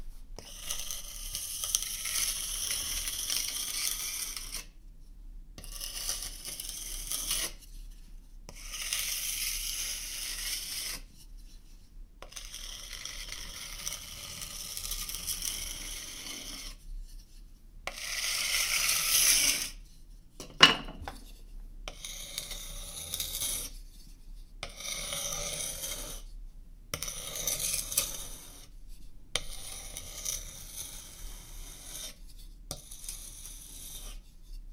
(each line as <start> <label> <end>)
0.0 scraping wooden spoon against linoleum counter 4.8
5.6 scraping wooden spoon against linoleum counter 26.3
27.0 scraping wooden spoon against linoleum counter 34.7